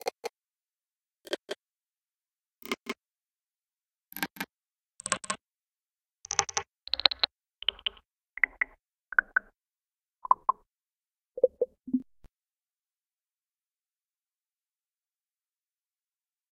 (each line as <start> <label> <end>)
6.3 pitched and lfo clicks 9.5
10.2 pitched and lfo clicks 10.6